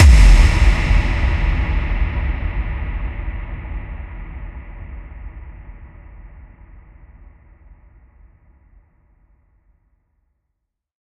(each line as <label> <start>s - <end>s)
Deep Impact 0.0s - 7.0s